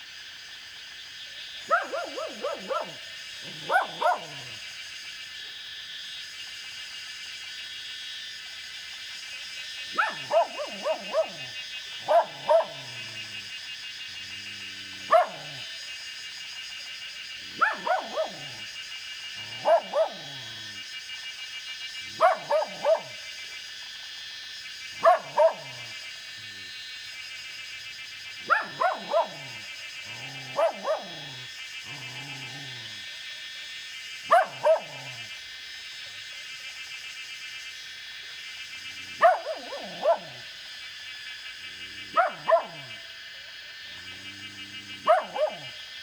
Cicada sounds 0:00.0 - 0:46.0
Dogs barking 0:01.6 - 0:04.7
Dogs barking 0:09.8 - 0:16.0
Dogs barking 0:17.3 - 0:20.8
Dogs barking 0:22.0 - 0:23.3
Dogs barking 0:24.9 - 0:26.7
Dogs barking 0:28.4 - 0:33.2
Dogs barking 0:34.2 - 0:35.4
Dogs barking 0:38.7 - 0:40.7
Dogs barking 0:41.6 - 0:46.0

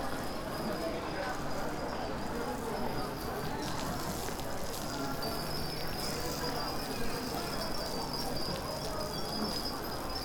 wind bells 0:07.8 - 0:10.2

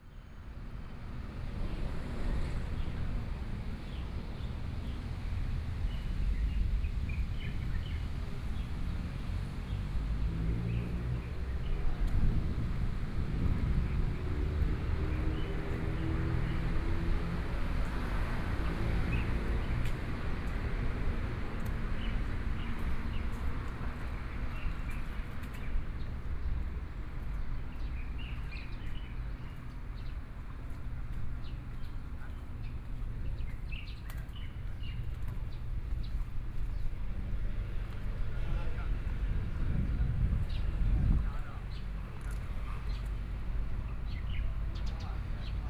Traffic Sound 0:00.3 - 0:45.6
Birdsong 0:21.9 - 0:39.2
Birdsong 0:40.4 - 0:45.6

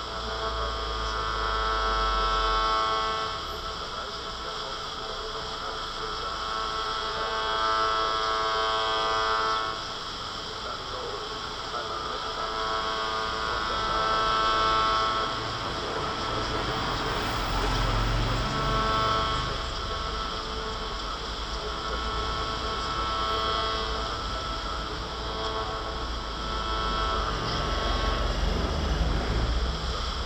accordion 0:00.0 - 0:30.2
transistor radio on the pavement 0:00.0 - 0:30.2
voices 0:00.0 - 0:30.2

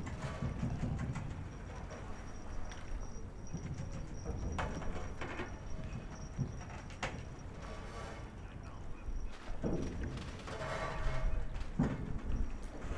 waves 0:00.0 - 0:09.6
voices 0:01.4 - 0:10.1

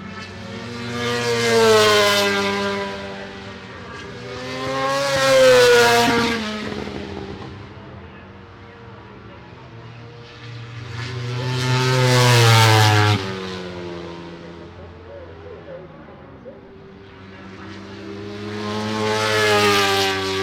Motorcycle Grand Prix 0:00.0 - 0:20.4

